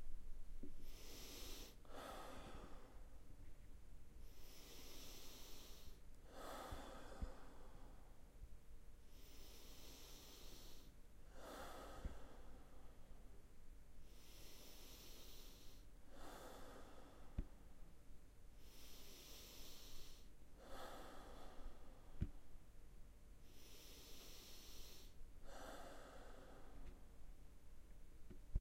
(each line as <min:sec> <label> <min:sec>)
0:00.8 Breathing, calm, mouth exhale 0:03.2
0:04.2 Breathing, calm, mouth exhale 0:08.3
0:09.1 Breathing, calm, mouth exhale 0:13.4
0:14.0 Breathing, calm, mouth exhale 0:17.8
0:18.6 Breathing, calm, mouth exhale 0:22.5
0:23.4 Breathing, calm, mouth exhale 0:27.1